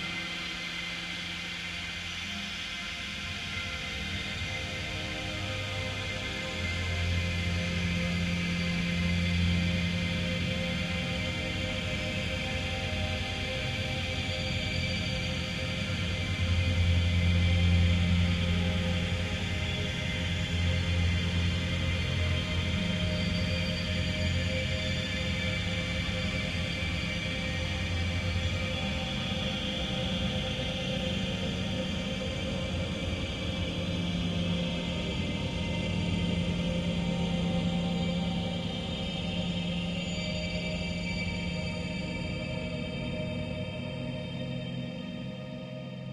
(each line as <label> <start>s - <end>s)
slowly evolving dreamy ambient drone pad 0.0s - 46.1s